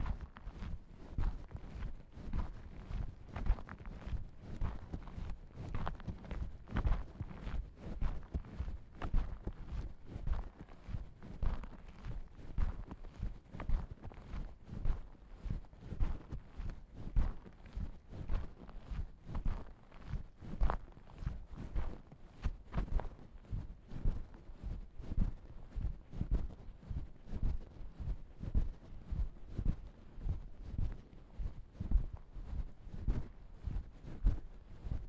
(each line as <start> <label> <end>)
0.0 walking the bags 35.0